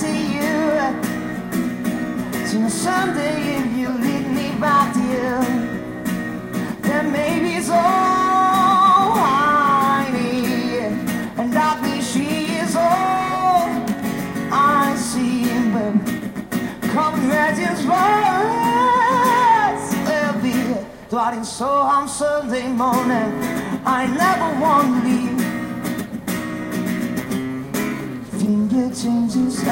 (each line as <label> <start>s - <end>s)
English songs 0.0s - 26.1s
English songs 27.9s - 29.7s